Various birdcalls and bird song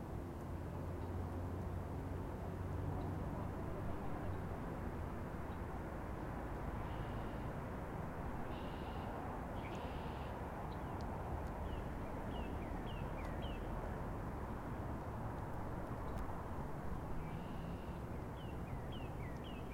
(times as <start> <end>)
8.5 13.8, 17.1 19.7